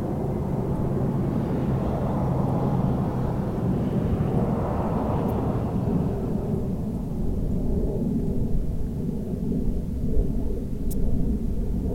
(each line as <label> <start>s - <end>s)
traffic 0.0s - 7.6s
low flying aircraft 0.0s - 11.9s